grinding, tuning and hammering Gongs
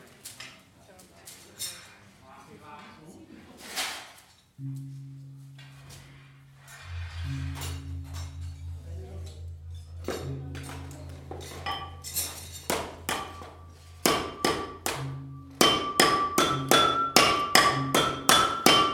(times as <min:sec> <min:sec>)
0:04.6 0:18.9